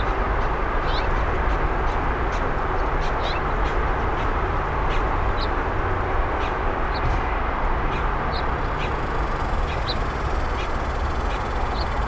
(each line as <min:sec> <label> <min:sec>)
0:00.0 din of the nearby freeway intersection 0:12.0
0:08.0 cicadas 0:12.0